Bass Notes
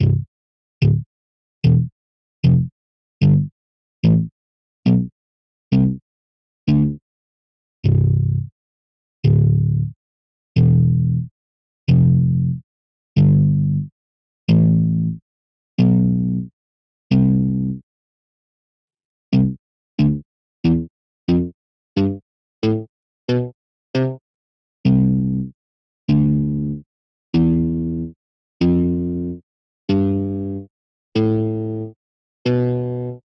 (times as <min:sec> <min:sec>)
0:00.0 0:04.3, 0:04.9 0:05.1, 0:05.7 0:06.0, 0:06.7 0:07.0, 0:07.8 0:08.5, 0:09.2 0:10.0, 0:10.6 0:11.3, 0:11.9 0:12.6, 0:13.2 0:13.9, 0:14.5 0:15.2, 0:15.8 0:16.4, 0:17.1 0:17.8, 0:19.3 0:24.2, 0:24.9 0:25.5, 0:26.1 0:26.8, 0:27.4 0:29.3, 0:29.9 0:31.9, 0:32.5 0:33.2